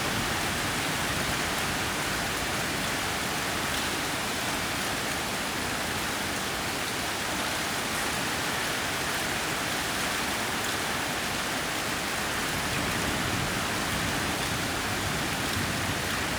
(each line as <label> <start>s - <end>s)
rain 0.0s - 16.3s